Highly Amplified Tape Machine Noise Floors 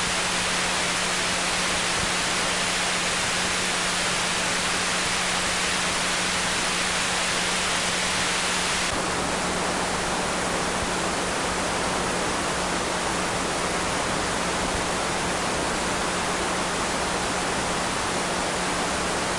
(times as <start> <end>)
3.0 9.1